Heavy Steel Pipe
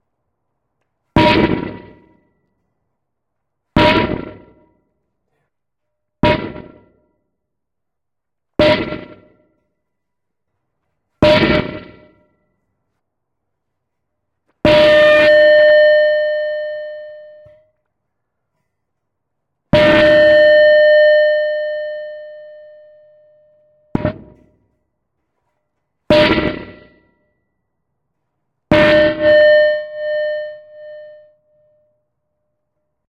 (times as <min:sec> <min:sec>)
0:11.1 0:12.5, 0:14.6 0:17.7, 0:19.8 0:24.8, 0:25.4 0:27.3, 0:28.7 0:31.5